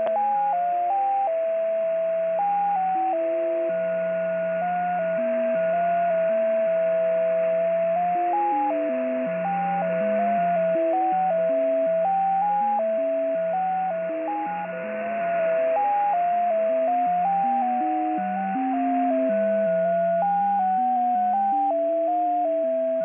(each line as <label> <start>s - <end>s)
heterodyne 0.0s - 23.0s
jt65 0.0s - 23.0s